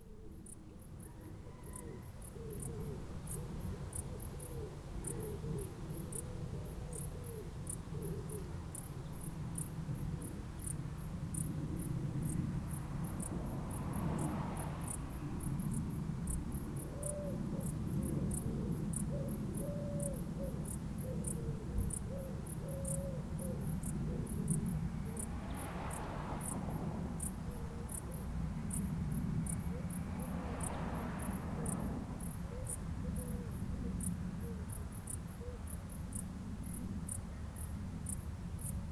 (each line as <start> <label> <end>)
0.0 Crickets in the Bushes 38.9
10.6 cars 19.0
23.3 cars 35.1